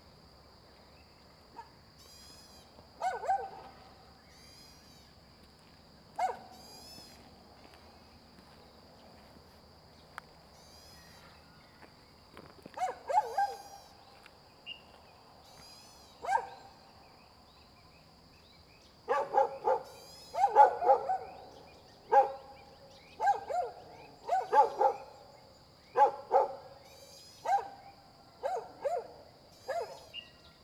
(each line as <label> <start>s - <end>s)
Dogs barking 3.0s - 3.7s
Dogs barking 6.2s - 6.6s
Dogs barking 12.8s - 13.7s
Dogs barking 16.2s - 16.7s
Dogs barking 19.1s - 25.2s
Dogs barking 26.0s - 26.7s
Dogs barking 27.4s - 30.2s